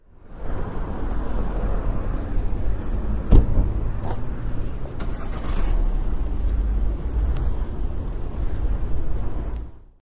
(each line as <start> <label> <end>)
0.0 street noise 10.0
5.0 starts the engine 6.0